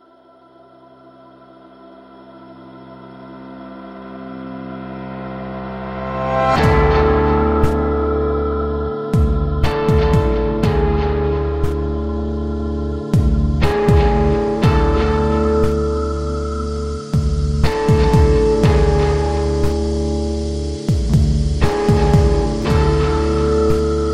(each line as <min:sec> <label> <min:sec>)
0:00.0 bass 0:24.1
0:00.0 guitar 0:24.1